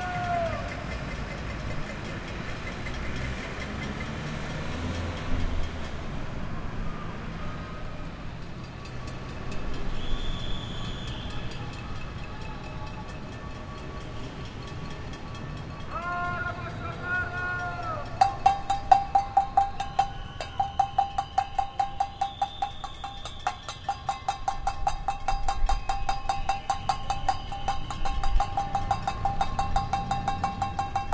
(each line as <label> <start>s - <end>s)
scream at the windows of their apartments 0.0s - 0.9s
scream at the windows of their apartments 6.7s - 8.2s
scream at the windows of their apartments 9.9s - 13.2s
people bang pans 18.0s - 31.1s
scream at the windows of their apartments 19.4s - 24.7s